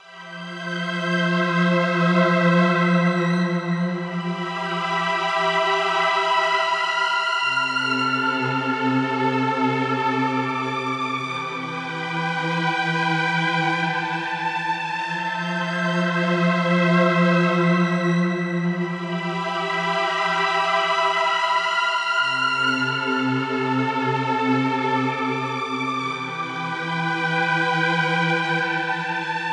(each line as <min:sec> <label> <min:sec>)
0:00.0 Dramatic Strings 0:29.5